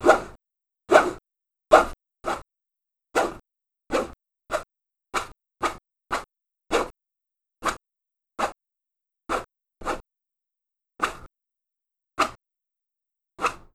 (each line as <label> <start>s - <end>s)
fingernails scratching a plastic tray 13.4s - 13.7s